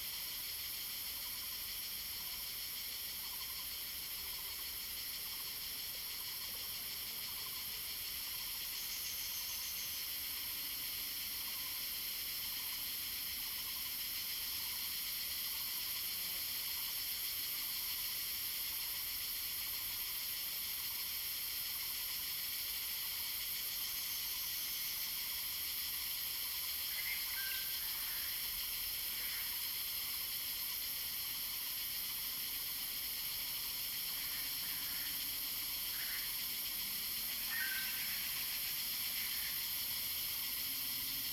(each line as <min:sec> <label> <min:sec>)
0:00.0 Cicadas cry 0:41.3